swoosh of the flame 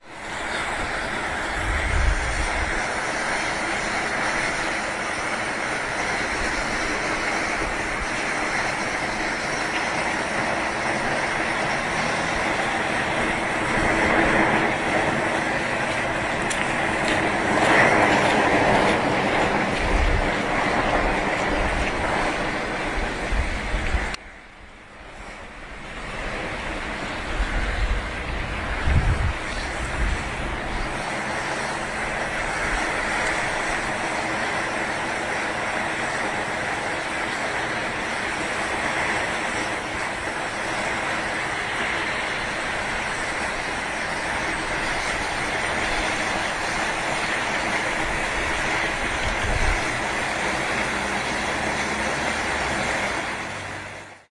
0.0s 24.2s, 25.2s 38.6s

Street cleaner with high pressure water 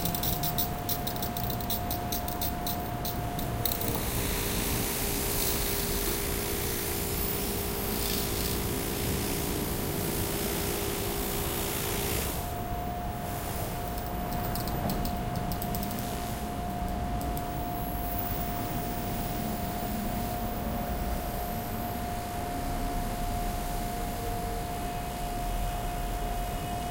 0.0s 16.7s

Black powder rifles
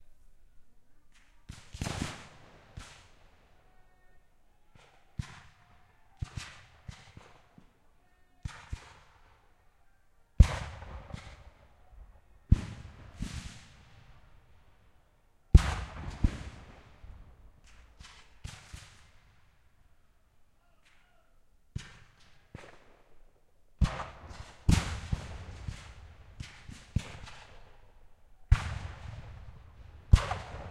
1.1s 3.5s, 8.4s 9.4s, 10.4s 11.7s, 12.5s 14.3s, 15.5s 19.6s, 21.7s 27.9s, 28.5s 30.7s

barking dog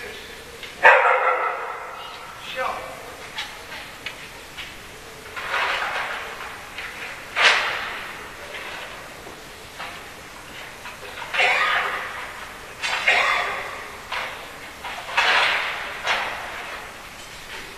0.8s 2.0s

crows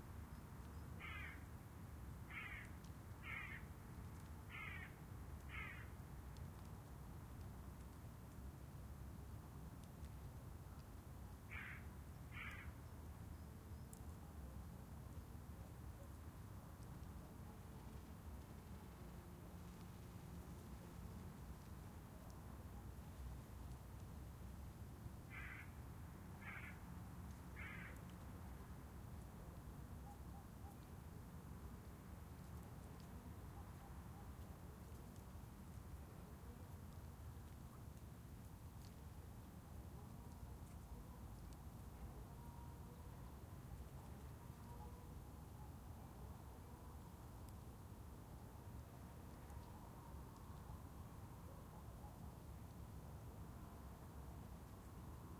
1.0s 1.5s, 2.3s 3.7s, 4.5s 6.0s, 11.5s 12.8s, 25.3s 25.8s, 26.4s 26.8s, 27.5s 28.1s

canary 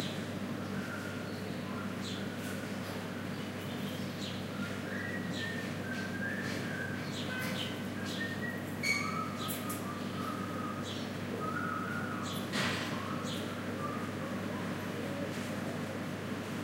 8.8s 9.8s

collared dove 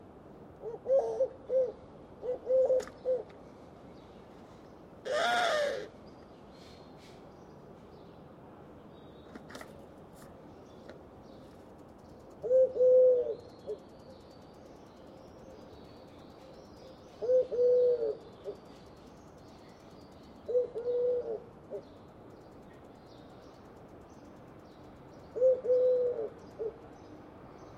0.6s 3.5s, 9.2s 14.2s, 15.1s 22.1s, 25.1s 26.9s

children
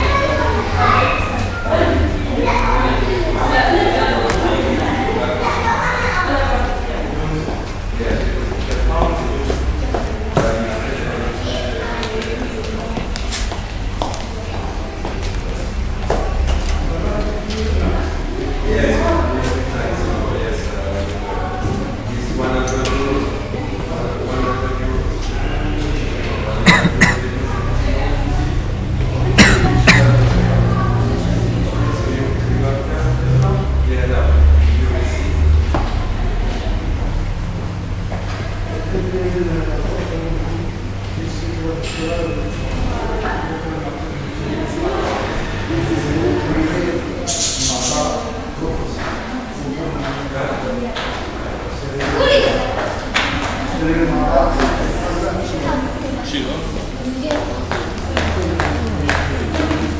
0.0s 8.1s, 50.4s 53.6s

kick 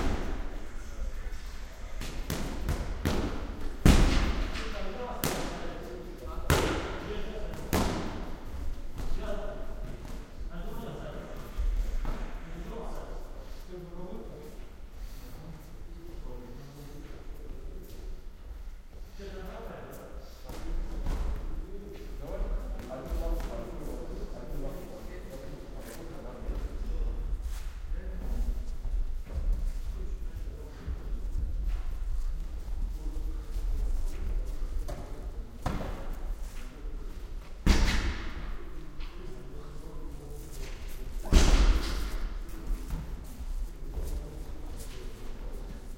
37.6s 38.4s, 41.2s 42.3s

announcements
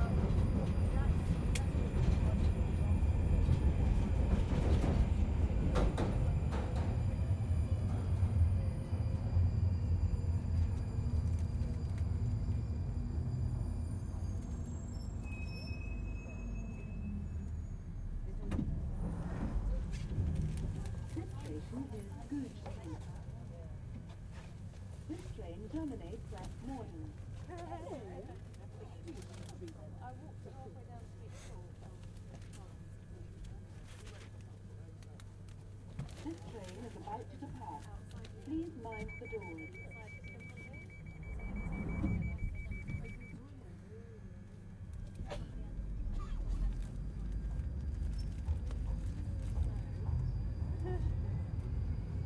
38.6s 43.8s

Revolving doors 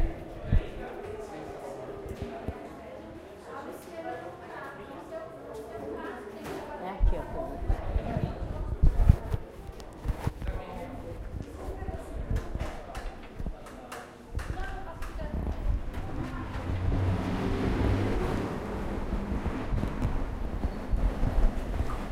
15.8s 22.1s

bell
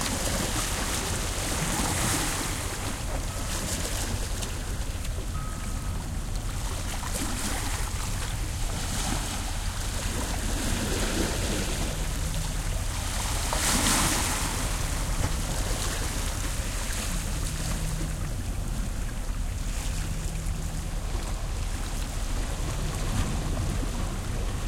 4.5s 6.5s

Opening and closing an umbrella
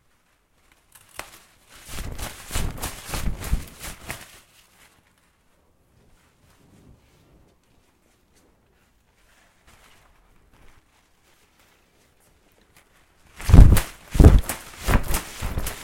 0.6s 5.2s, 9.3s 15.8s

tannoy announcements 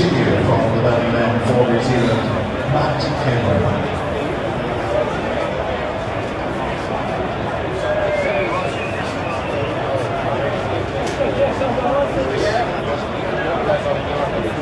0.0s 4.1s

